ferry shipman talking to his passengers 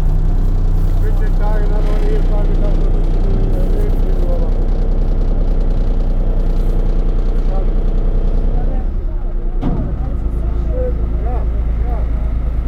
0.9 4.7

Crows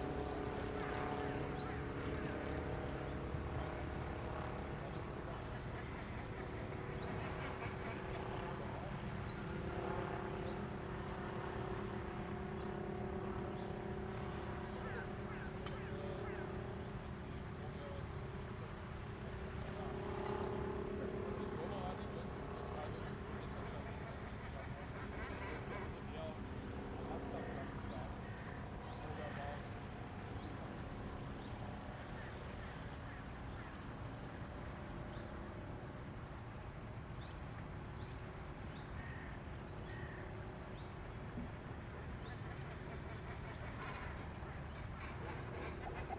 14.7 16.5, 39.0 40.3

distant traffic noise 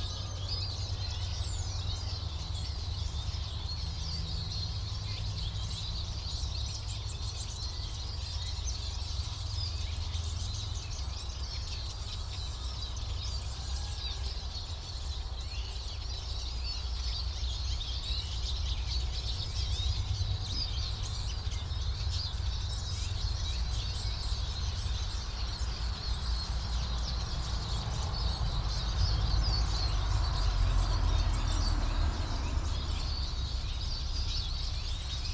18.3 35.3

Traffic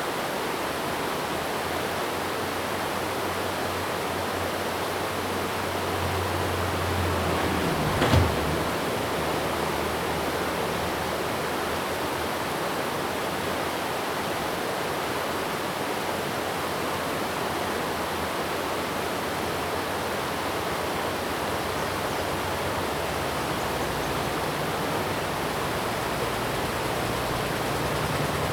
5.2 12.0, 19.3 28.5

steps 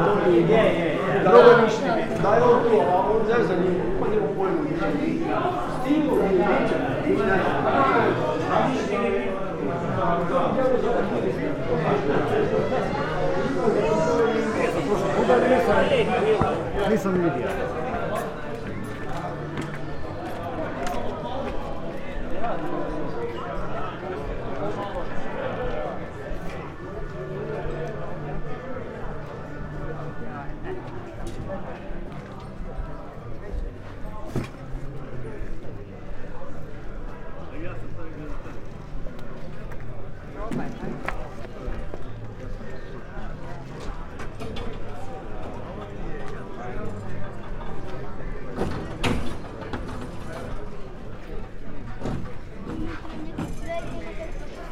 11.3 21.6

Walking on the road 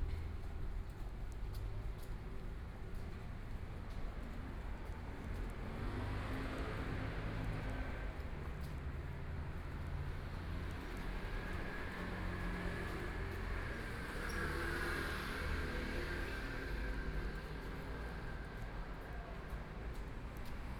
15.5 20.7

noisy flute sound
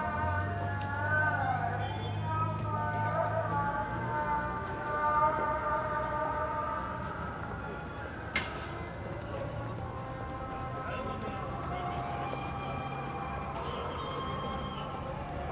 10.5 15.5

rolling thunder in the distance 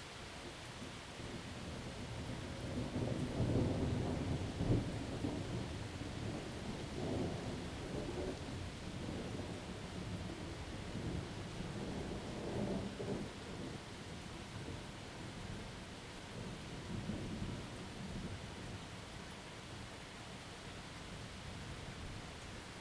1.8 13.8

